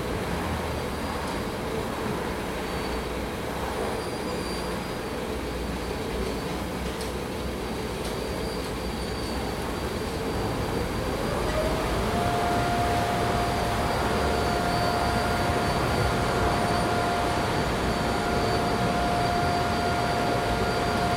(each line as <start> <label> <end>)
4.8 car wash 21.1
9.6 distant traffic 21.1
10.8 helicopter 21.1